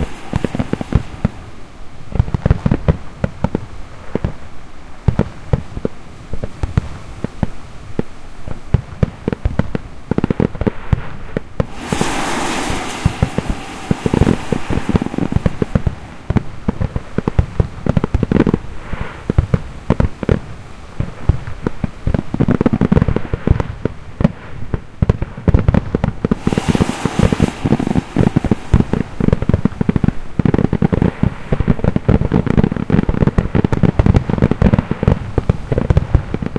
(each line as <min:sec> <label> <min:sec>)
0:00.0 Fireworks 0:36.5